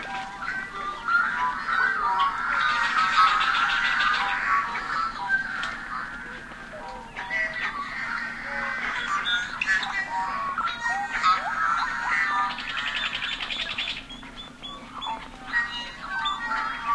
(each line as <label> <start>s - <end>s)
blackbirds 0.0s - 16.9s